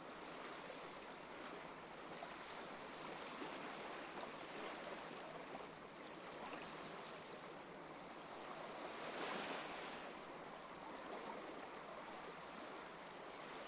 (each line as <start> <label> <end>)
0.0 waves 13.6